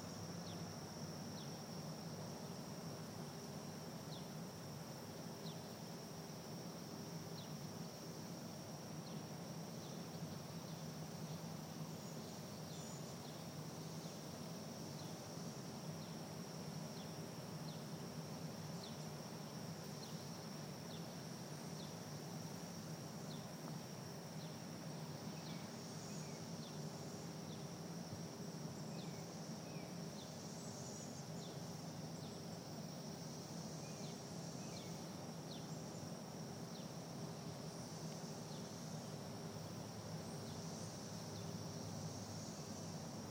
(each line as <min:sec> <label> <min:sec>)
0:00.0 Cicadas 0:43.3